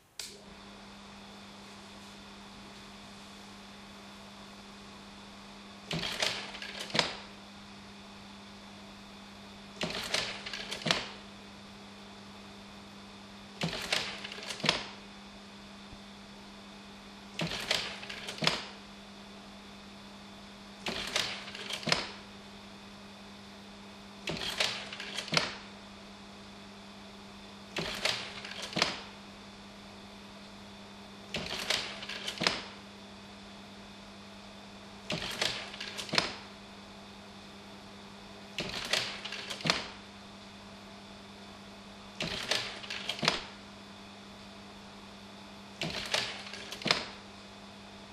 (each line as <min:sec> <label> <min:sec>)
0:05.8 old carousel slide projector 0:07.4
0:09.7 old carousel slide projector 0:11.3
0:13.6 old carousel slide projector 0:15.0
0:17.3 old carousel slide projector 0:18.9
0:20.8 old carousel slide projector 0:22.3
0:24.2 old carousel slide projector 0:25.8
0:27.7 old carousel slide projector 0:29.2
0:31.3 old carousel slide projector 0:32.8
0:35.0 old carousel slide projector 0:36.6
0:38.6 old carousel slide projector 0:40.1
0:42.2 old carousel slide projector 0:43.6
0:45.7 old carousel slide projector 0:47.3